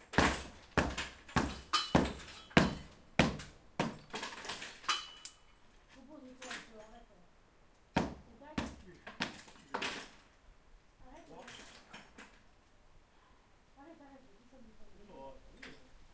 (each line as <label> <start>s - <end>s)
man hitting a wall with a sledge 0.0s - 4.4s
man hitting a wall with a sledge 8.0s - 9.4s